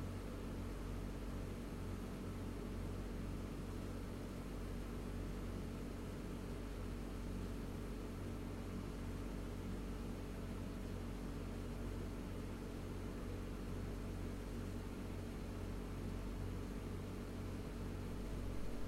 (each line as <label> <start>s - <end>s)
vintage air conditioner 0.0s - 18.8s